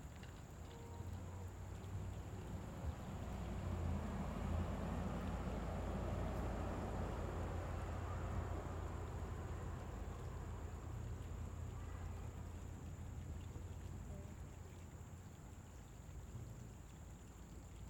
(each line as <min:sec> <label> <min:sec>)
0:00.0 creek 0:17.8
0:01.0 cars cruising on the road 0:13.2